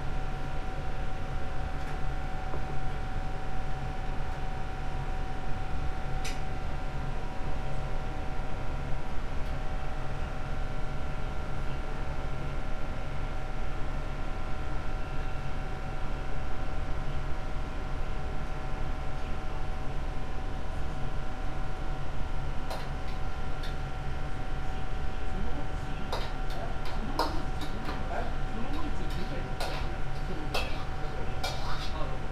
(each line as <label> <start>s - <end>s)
noodle soup in process of preparation 18.0s - 32.3s